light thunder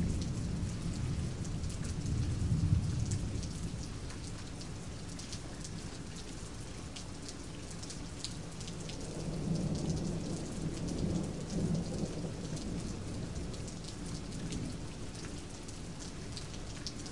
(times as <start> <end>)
0.0 4.0, 9.1 14.9